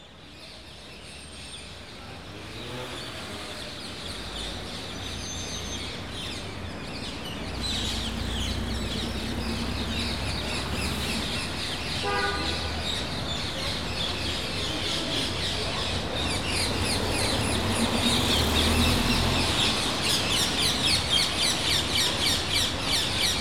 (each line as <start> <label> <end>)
12.1 People Talk 21.2